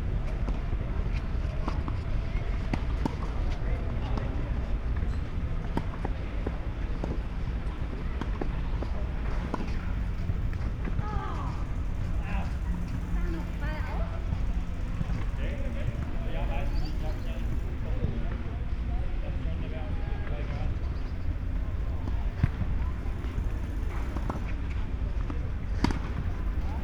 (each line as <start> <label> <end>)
0.0 tennis and soccer trainings 26.8
8.9 trains passing-by 18.9
20.2 trains passing-by 26.8